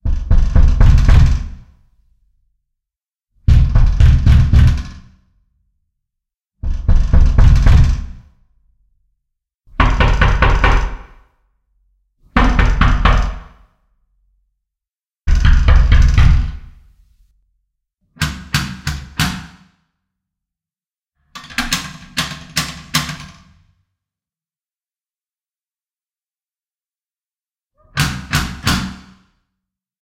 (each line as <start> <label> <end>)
3.5 knock on the door with your hand 5.0
9.8 knock on the door with your hand 11.1
12.4 knock on the door with your hand 13.6
15.3 knock on the door with your hand 16.6